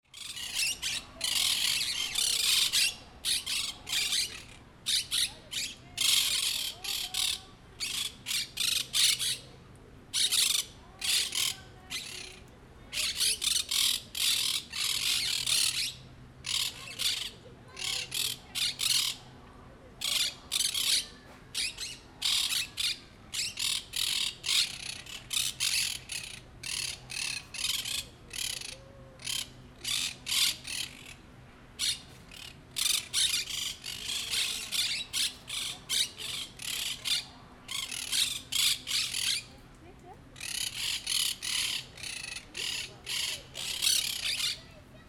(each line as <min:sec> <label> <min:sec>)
0:00.1 Monk Parakeets singing 0:09.5
0:10.1 Monk Parakeets singing 0:19.2
0:20.0 Monk Parakeets singing 0:31.2
0:31.8 Monk Parakeets singing 0:39.6
0:40.4 Monk Parakeets singing 0:44.8